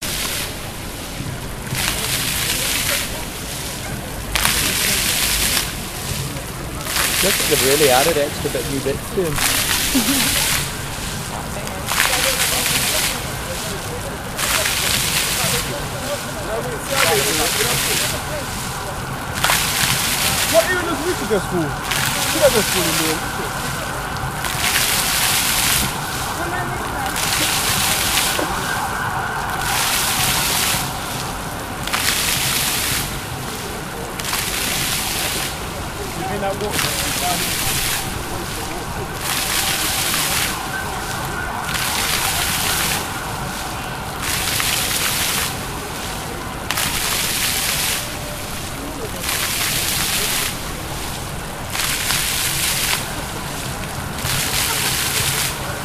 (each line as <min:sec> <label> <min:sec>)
0:00.0 Fountain 0:55.8
0:00.0 traffic 0:55.8
0:07.0 chatting 0:10.9